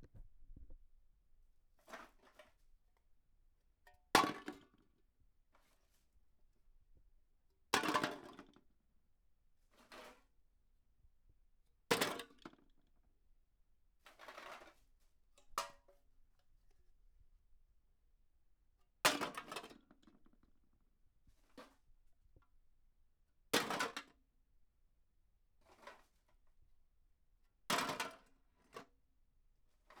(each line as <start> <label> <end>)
3.9 empty soda cans dropped into a plastic bucket 4.8
7.8 empty soda cans dropped into a plastic bucket 8.6
11.9 empty soda cans dropped into a plastic bucket 12.7
14.1 empty soda cans dropped into a plastic bucket 14.8
19.1 empty soda cans dropped into a plastic bucket 20.2
23.6 empty soda cans dropped into a plastic bucket 24.2
27.7 empty soda cans dropped into a plastic bucket 28.9